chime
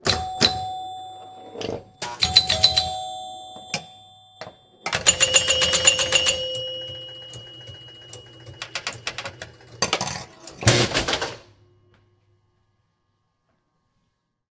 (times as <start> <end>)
0.1 10.0